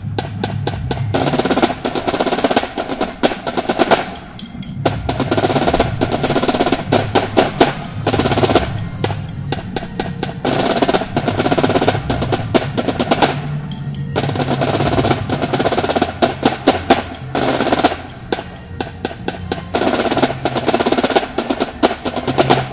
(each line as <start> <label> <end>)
0.0 Snare drums practicing 22.7